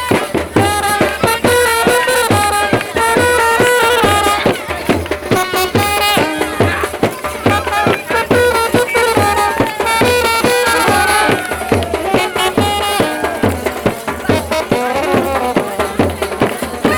wedding procession 0.0 - 16.9

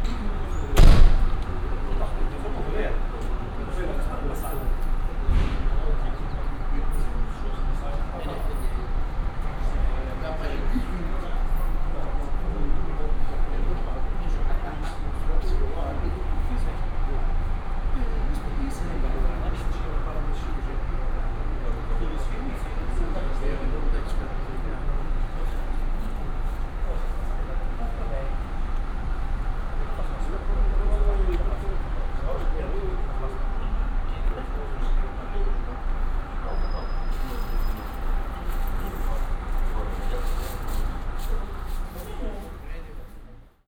buses idling behind them 0.0 - 43.5
bus drivers talking 0.0 - 43.6

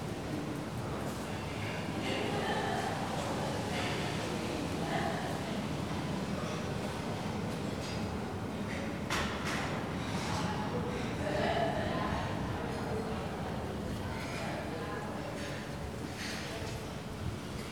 hum of a AC unit 0.0 - 17.7

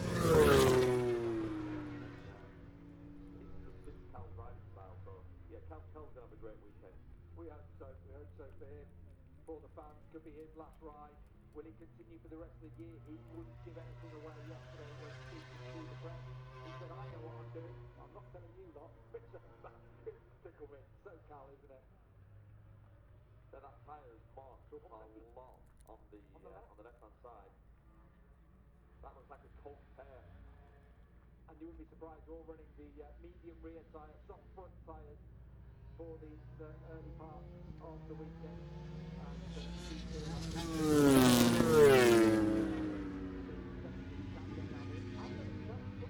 motorcycle grand prix 0.0 - 46.0

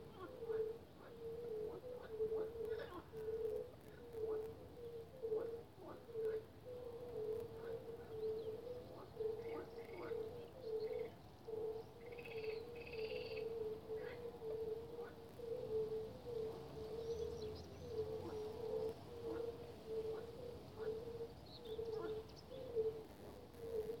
birds singing 0.0 - 24.0
frogs croaking 0.0 - 24.0

